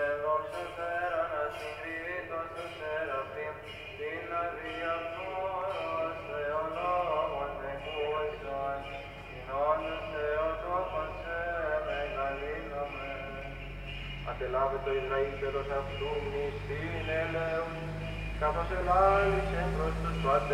Church Mass 0:00.0 - 0:20.5

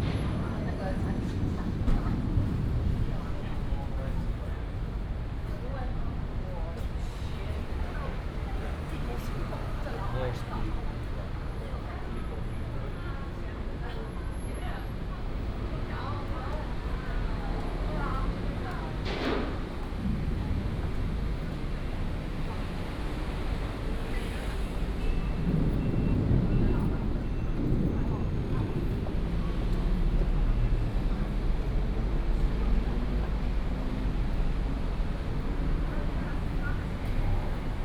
Traffic noise 0:00.0 - 0:37.8

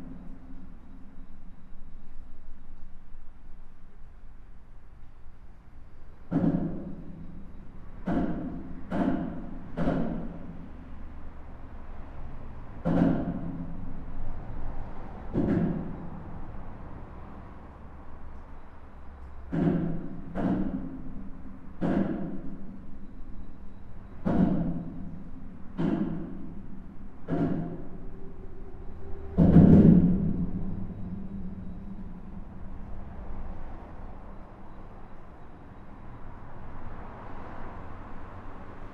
cars are driving fast 0:10.6 - 0:20.8
cars are driving fast 0:27.3 - 0:38.9

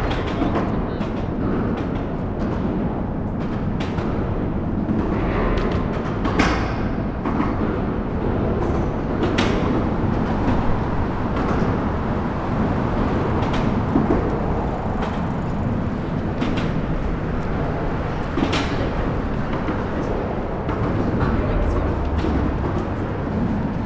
cars 0:00.0 - 0:23.8

